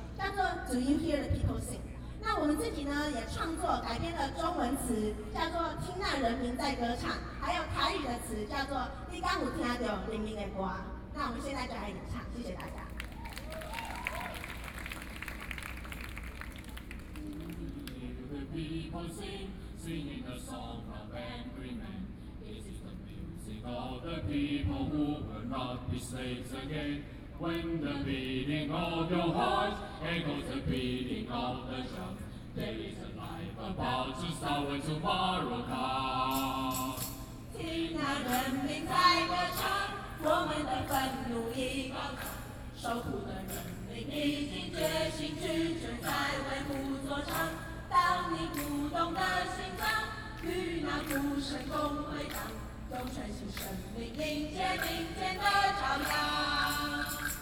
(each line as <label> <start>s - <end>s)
college students singing 17.4s - 57.4s